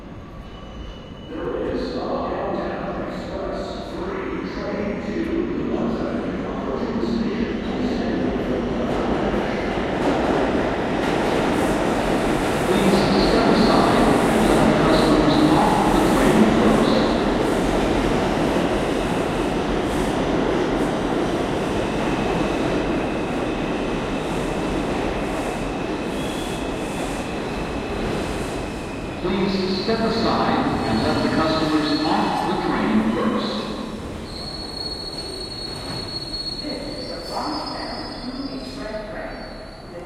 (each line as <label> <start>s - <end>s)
2-train arrives 0.0s - 40.0s
subway announcement 0.0s - 40.0s